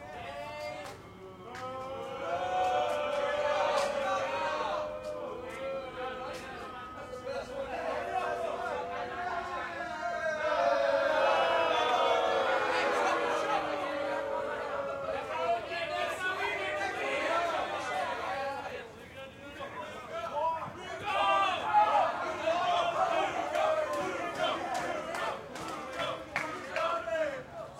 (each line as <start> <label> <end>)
0.0 rowdy crowd 27.7